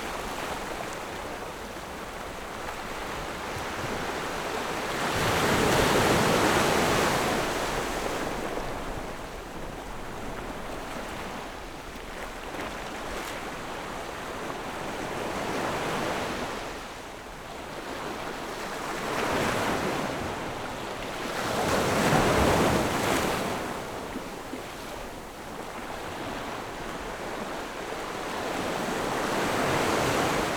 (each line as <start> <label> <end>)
0.0 waves 30.5